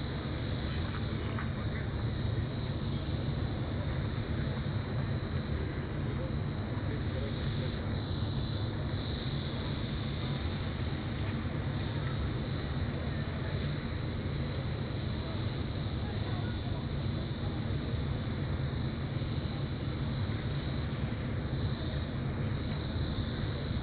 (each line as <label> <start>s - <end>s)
air ventilation system 0.0s - 23.8s